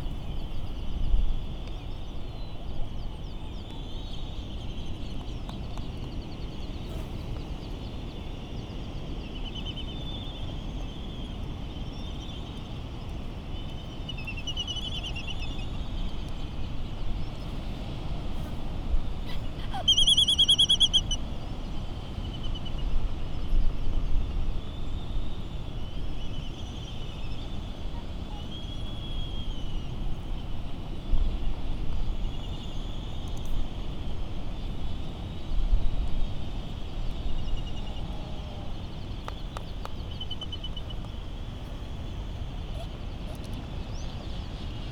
island traffic noise 0:15.6 - 0:22.7
laysan calls 0:19.2 - 0:21.2
island traffic noise 0:36.5 - 0:44.3

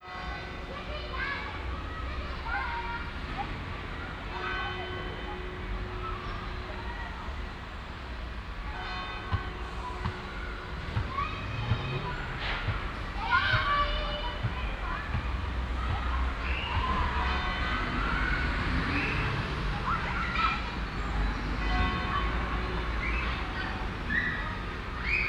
bells of the nearby Thomas church 0:00.0 - 0:25.2

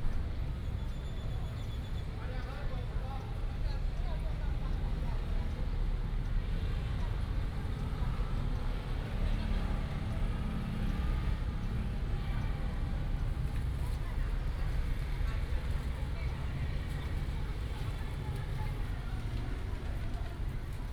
Traffic sound 0:00.0 - 0:20.9

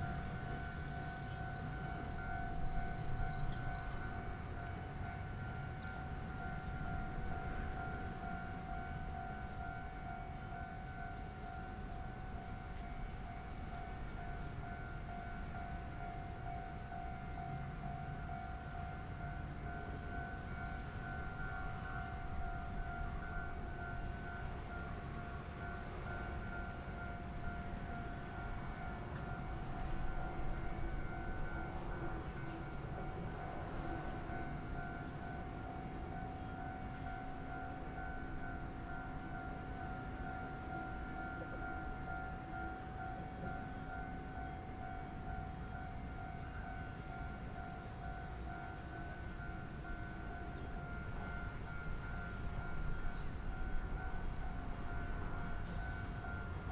Train traveling through 0:00.0 - 0:56.7

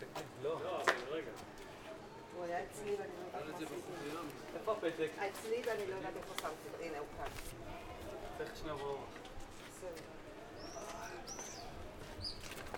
Tourist 0:00.0 - 0:12.7
birds 0:10.6 - 0:12.7

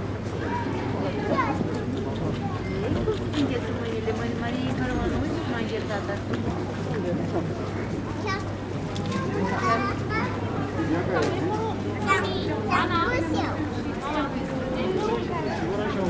crowded main street 0:00.0 - 0:16.0

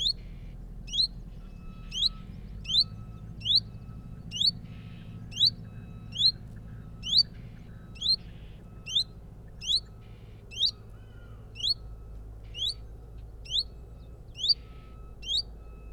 reversing tractor 0:00.0 - 0:15.9

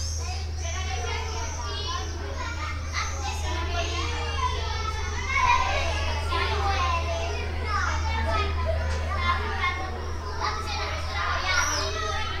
Kindergarten exit 0:00.0 - 0:12.4

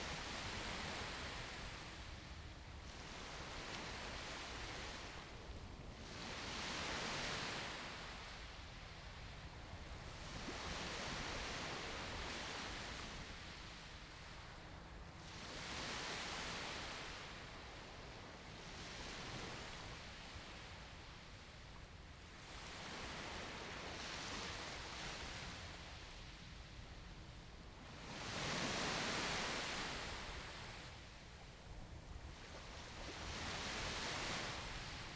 Waves 0:00.0 - 0:35.1

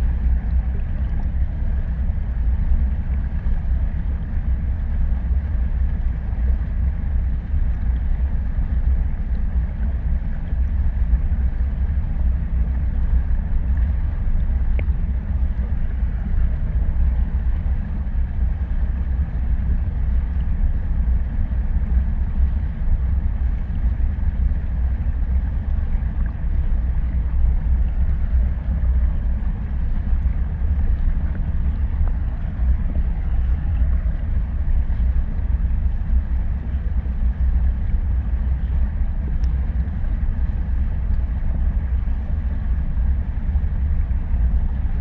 tiny ice drone 0:00.0 - 0:45.0

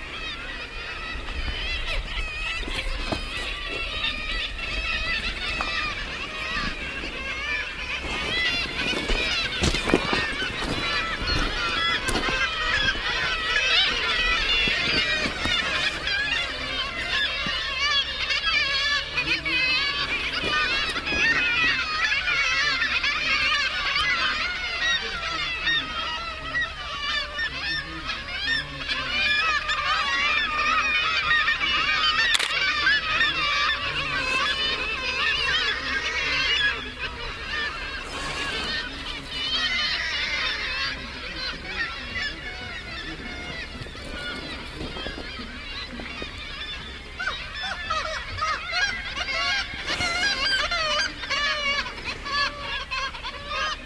thousends of Kittiwakes 0:00.0 - 0:53.8

